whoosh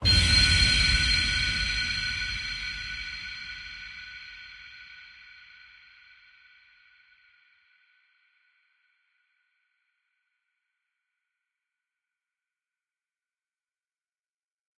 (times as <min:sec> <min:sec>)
0:00.0 0:04.5